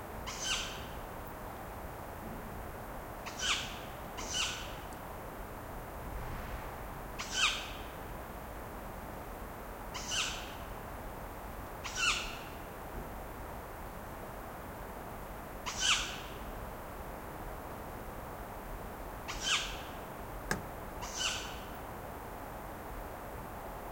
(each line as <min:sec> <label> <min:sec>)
0:00.0 wind of the forest 0:23.9